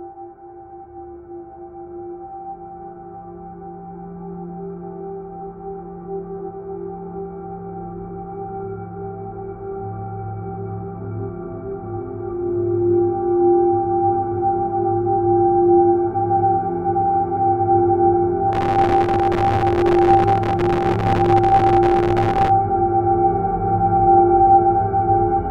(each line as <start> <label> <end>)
18.6 heavily reverberated distortion 22.5
18.6 slowly evolving dreamy ambient drone pad 22.5